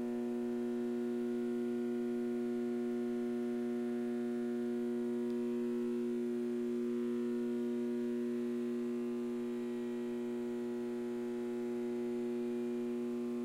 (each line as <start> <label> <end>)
0.0 Lights buzzing 13.4